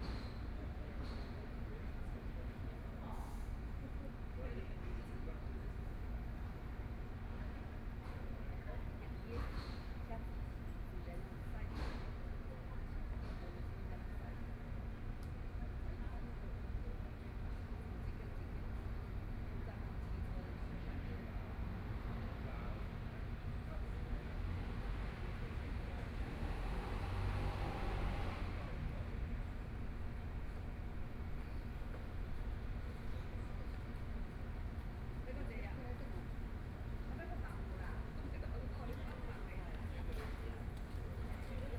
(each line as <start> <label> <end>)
24.4 Traffic Sound 28.7
35.2 Women chatting voices 41.7